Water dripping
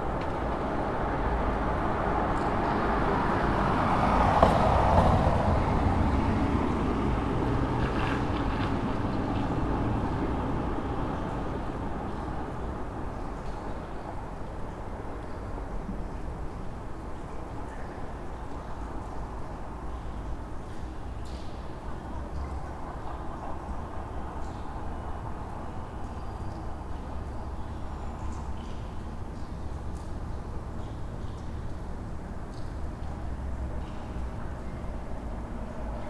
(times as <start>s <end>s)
8.9s 36.0s